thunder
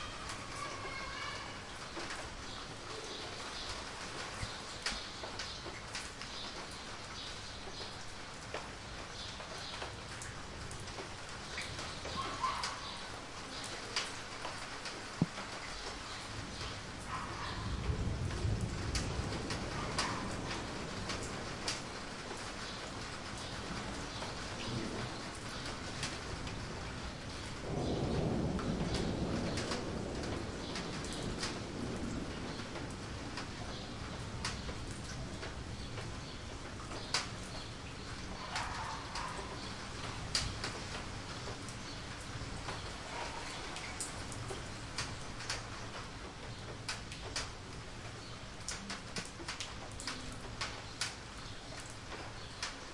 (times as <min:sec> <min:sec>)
0:17.4 0:21.7, 0:24.6 0:34.6